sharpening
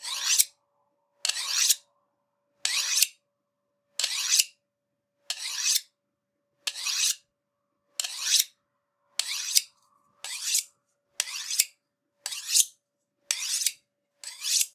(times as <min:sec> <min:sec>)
0:00.0 0:00.6, 0:01.2 0:01.9, 0:02.6 0:03.2, 0:04.0 0:04.6, 0:05.3 0:06.0, 0:06.6 0:07.3, 0:08.0 0:08.6, 0:09.2 0:14.7